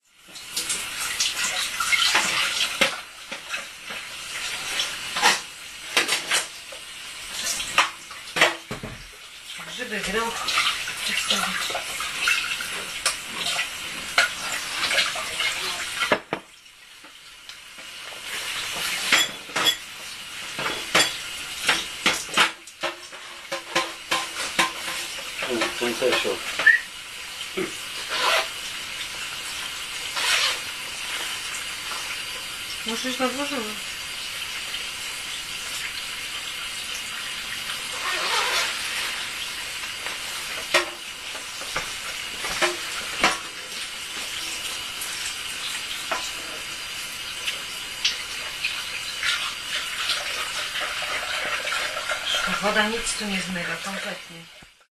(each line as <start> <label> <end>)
0.0 washing dishes 54.9